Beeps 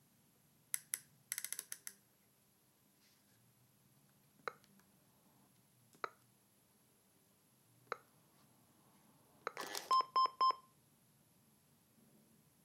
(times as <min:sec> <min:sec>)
0:09.9 0:10.7